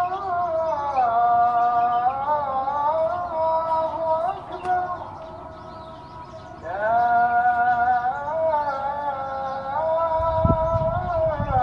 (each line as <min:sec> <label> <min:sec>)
0:00.0 Muezzin 0:11.6
0:00.0 birds 0:11.6
0:00.0 wind 0:11.6